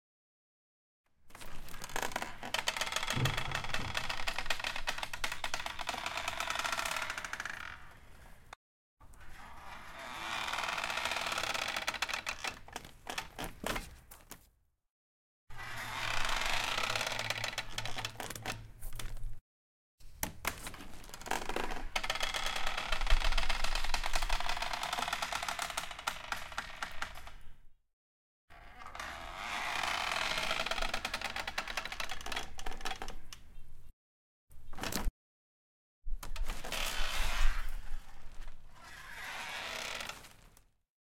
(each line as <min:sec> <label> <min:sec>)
0:01.4 creaky door 0:08.0
0:09.2 creaky door 0:13.5
0:15.6 creaky door 0:18.6
0:21.1 creaky door 0:27.5
0:28.5 creaky door 0:33.2
0:36.3 creaky door 0:40.6